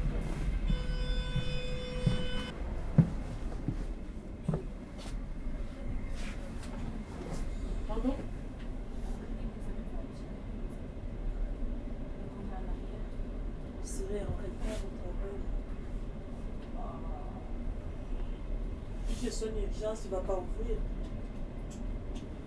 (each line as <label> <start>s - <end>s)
The train arrives 0.0s - 16.8s
alarm. It makes a strident painful noise 0.7s - 2.5s